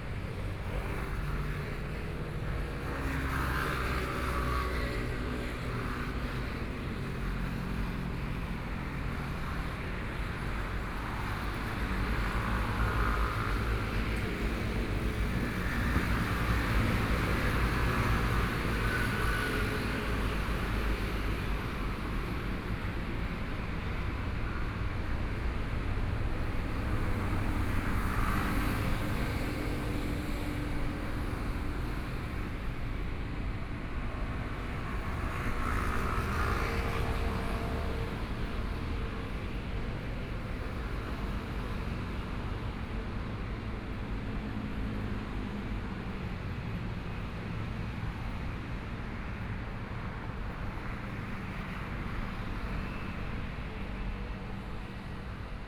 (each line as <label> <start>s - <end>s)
Helicopter flight traveling through 0.0s - 55.6s
Traffic Sound 0.0s - 55.6s